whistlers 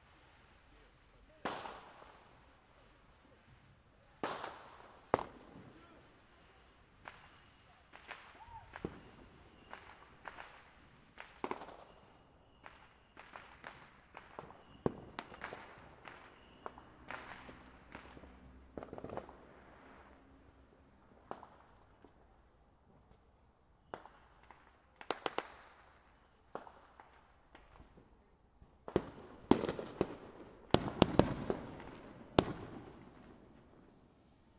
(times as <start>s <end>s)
6.5s 18.5s, 23.8s 24.7s